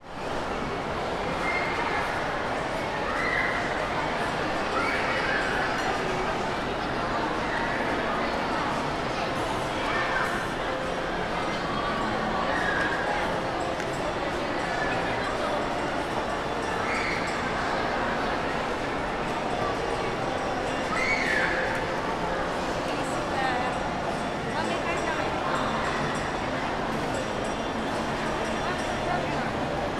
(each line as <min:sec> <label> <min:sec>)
0:00.4 children 0:29.9
0:03.7 music from the stores and restaurants 0:29.9